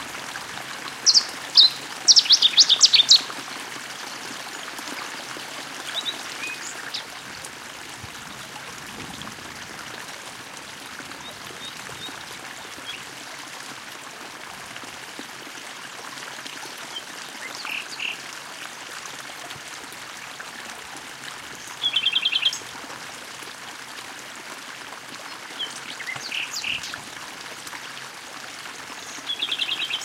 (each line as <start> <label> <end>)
0.0 stream 30.0